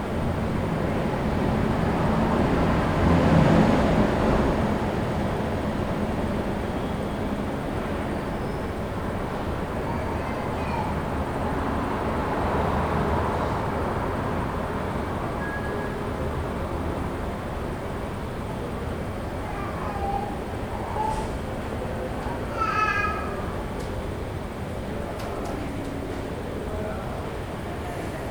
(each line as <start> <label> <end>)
0.0 side street sounds 28.3